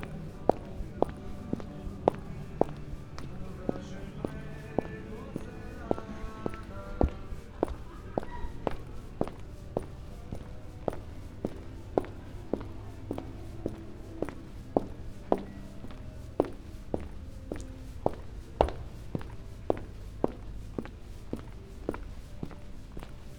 0.0s walking 23.3s

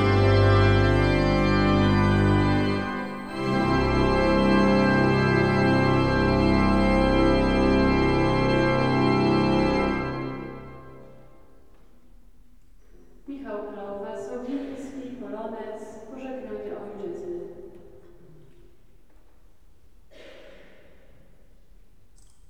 0.0s grand organ 11.6s
0.0s concert in church 22.4s

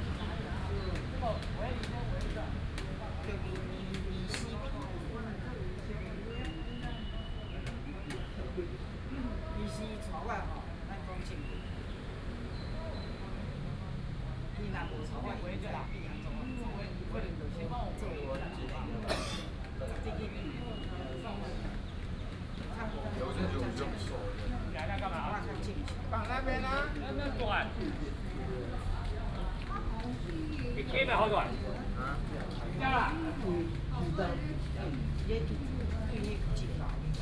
12.8s Elderly chatting 37.2s

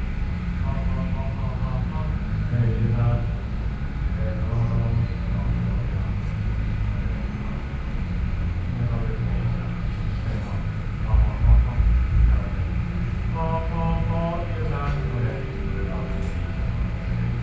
0.0s Noise generator 17.4s
11.0s Concert is testing the microphone 17.4s

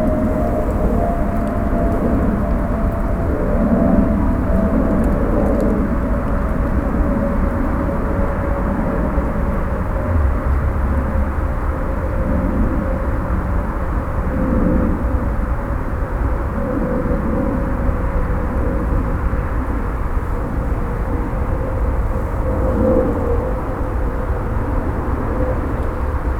0.0s air traffic 26.3s
0.0s motorway 26.3s

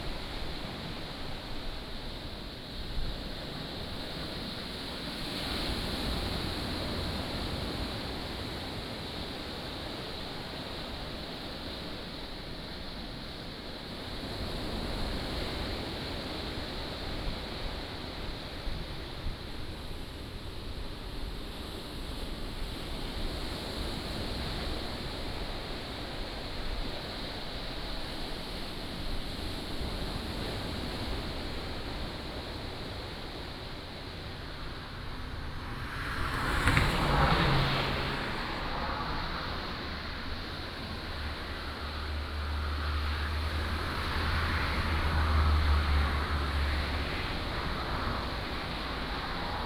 0.0s waves 49.6s
31.0s Traffic Sound 49.6s
36.0s rain 47.2s

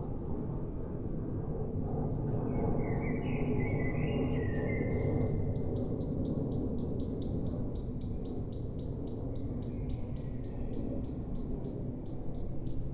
0.0s aircraft is passing by 2.8s

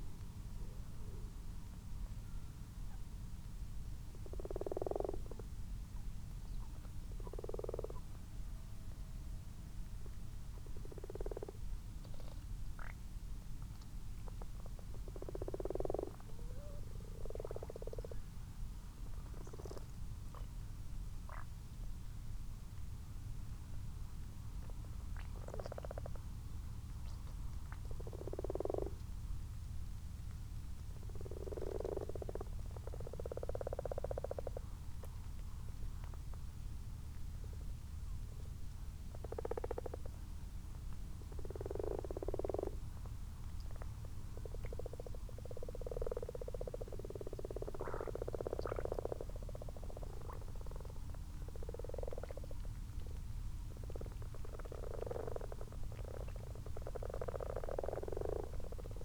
0.0s common frogs and common toads in a garden pond 59.0s

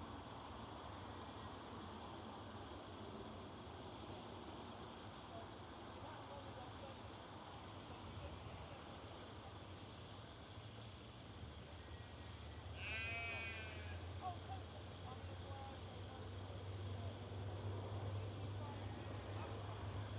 0.0s insects 20.1s

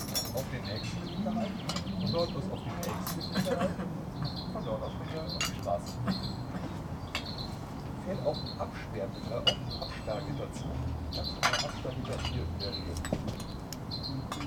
0.0s background noise of city 14.4s

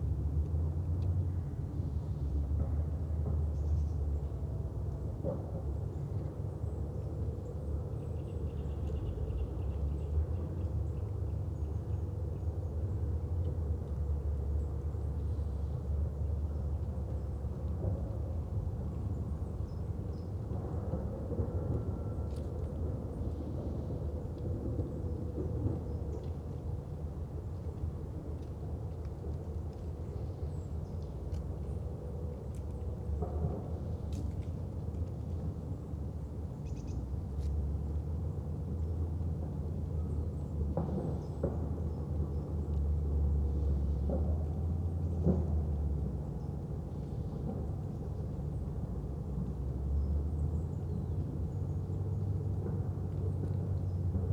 12.4s distant sounds of work 54.3s

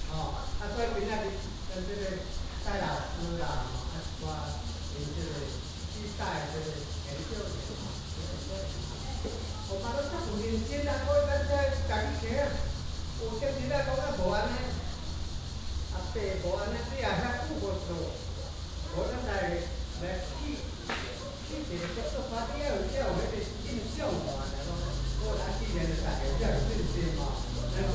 0.0s Cicadas sound 27.9s
0.0s Traffic sound 27.9s

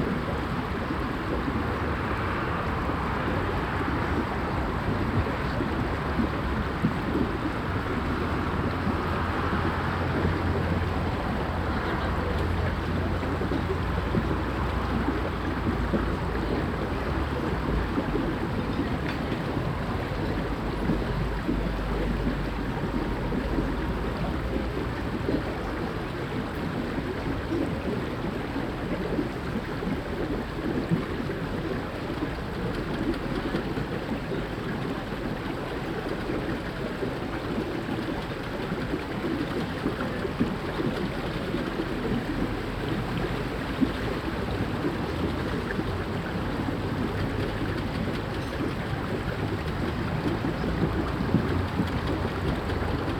0.0s traffic 26.0s
0.0s waterspout fountain 53.1s
0.0s bubbly drainage 53.1s
37.5s traffic 53.1s

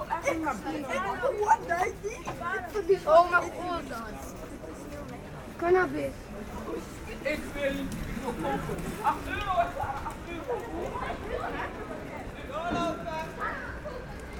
0.0s Children talking loudly 4.7s
5.5s Children talking loudly 14.3s

